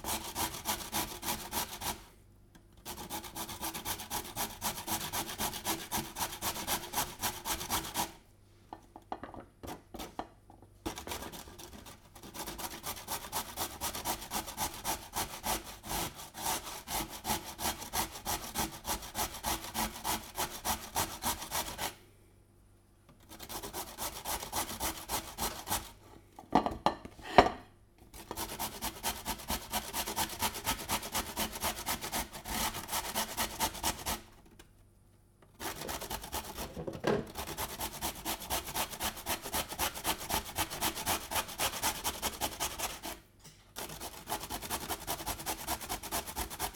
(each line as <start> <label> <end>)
35.5 carrot grating 43.2